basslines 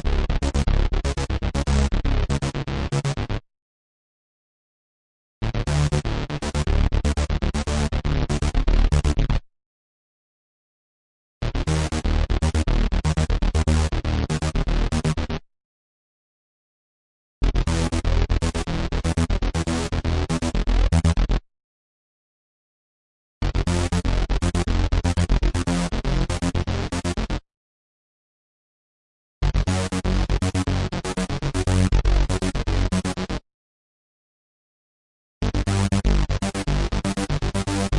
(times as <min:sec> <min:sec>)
0:00.0 0:03.4, 0:05.4 0:09.4, 0:11.4 0:15.4, 0:17.4 0:21.4, 0:23.4 0:27.4, 0:29.4 0:33.4, 0:35.4 0:37.9